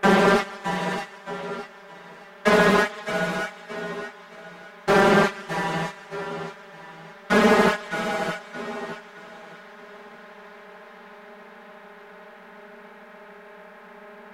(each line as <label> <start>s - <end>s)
drone 0.0s - 10.5s